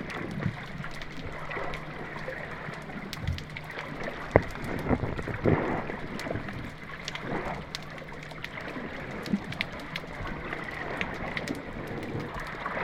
Water 0:00.0 - 0:12.8

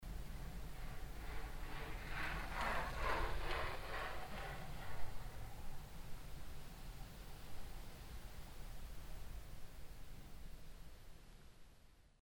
cyclist passing by 0:00.1 - 0:06.0

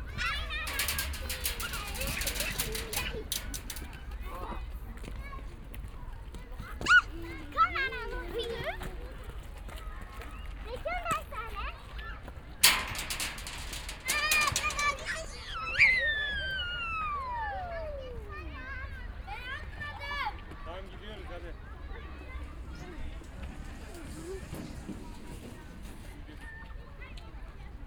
children on slide 0:22.2 - 0:26.7

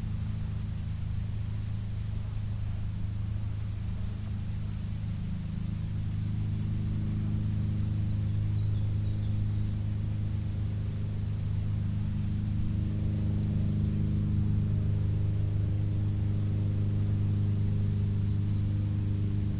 bugs 0:00.0 - 0:02.8
bugs 0:03.5 - 0:19.5

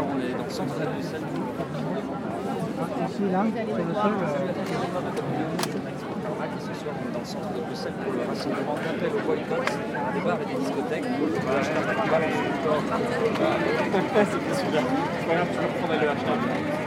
journalists making interviews of participants 0:00.0 - 0:16.8

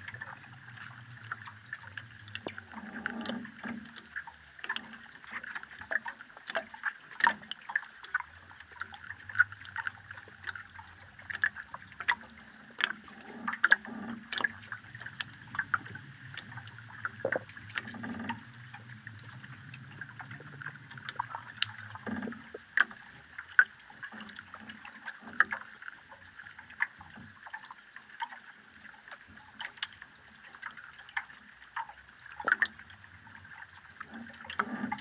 boat swaying at the bridge 0:00.0 - 0:27.5

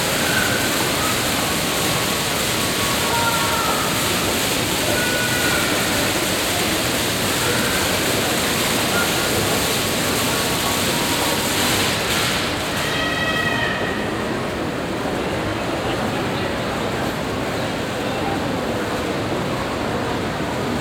fountain 0:00.0 - 0:14.3
people 0:00.0 - 0:20.8

